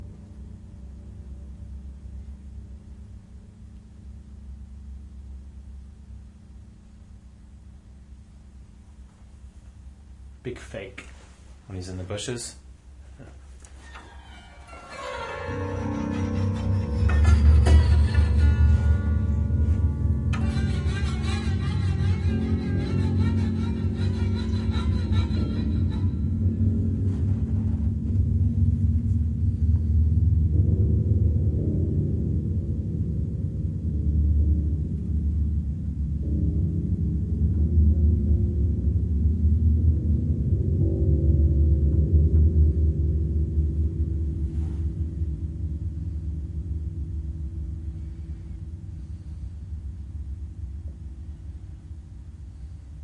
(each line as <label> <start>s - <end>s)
old bare piano soundboard manipulated in various ways 13.3s - 28.4s